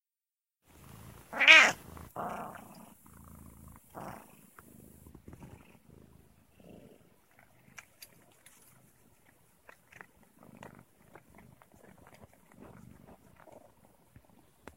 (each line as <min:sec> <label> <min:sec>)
0:00.7 cat purring 0:14.7
0:00.7 cat cleaning self 0:03.2
0:01.3 meowing 0:01.8